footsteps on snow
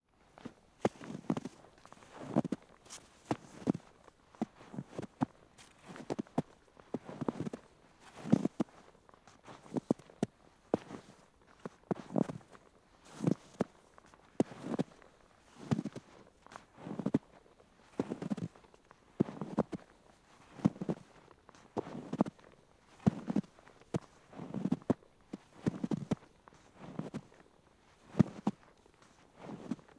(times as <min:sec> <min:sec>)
0:00.4 0:08.8, 0:17.9 0:18.5, 0:23.0 0:27.4, 0:28.0 0:29.9